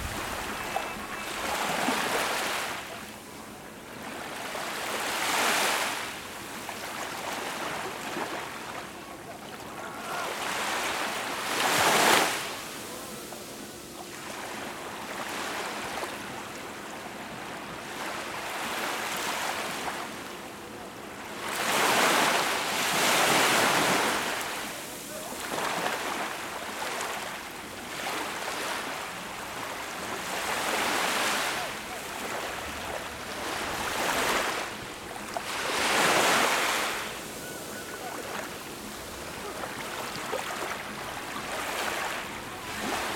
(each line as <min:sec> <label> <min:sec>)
0:00.0 People enjoy walking and gathering 0:05.2
0:08.8 People enjoy walking and gathering 0:17.3
0:22.5 People enjoy walking and gathering 0:26.7
0:31.1 People enjoy walking and gathering 0:43.1